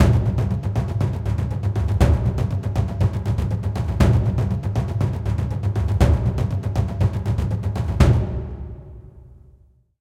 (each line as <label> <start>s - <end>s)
taiko 0.0s - 9.8s